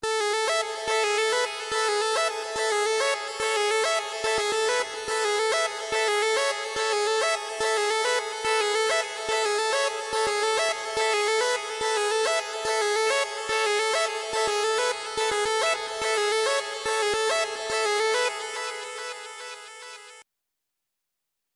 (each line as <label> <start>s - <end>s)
rhythm synth 0.6s - 19.5s